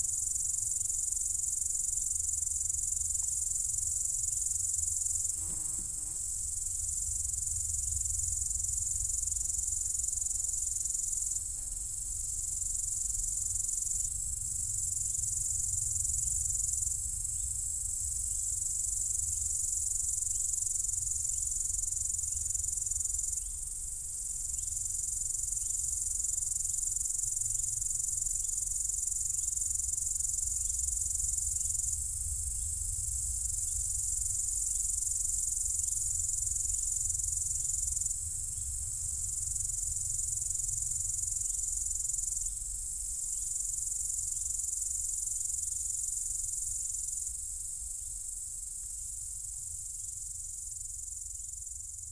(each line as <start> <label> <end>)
0.0 high sounds of insects 52.1